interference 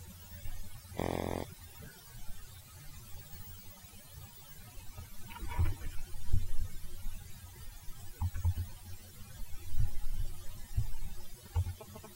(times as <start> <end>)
0.0 7.1